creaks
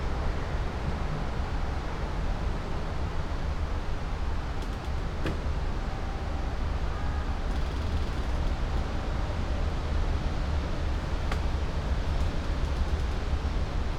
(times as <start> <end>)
7.5 8.9, 11.0 13.4